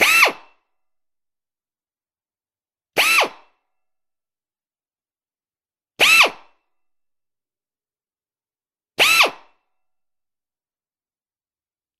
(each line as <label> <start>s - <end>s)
pneumatic drill started four times 0.0s - 0.5s
pneumatic drill started four times 3.0s - 3.5s
pneumatic drill started four times 6.0s - 6.5s
pneumatic drill started four times 9.0s - 9.6s